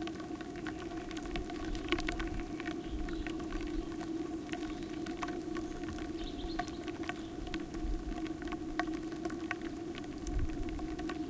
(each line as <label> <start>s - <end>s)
wind on pipes 10.2s - 11.2s